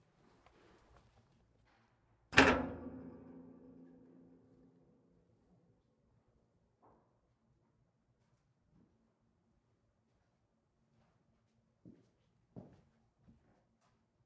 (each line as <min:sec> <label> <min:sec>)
0:02.4 clang 0:04.9